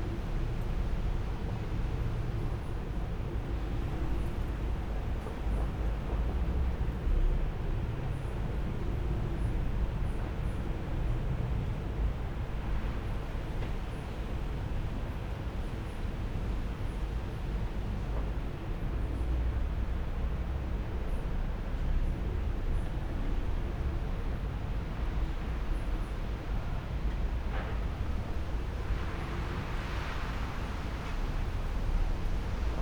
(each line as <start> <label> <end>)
0.0 wind 32.8
21.4 strong wind with rain 32.8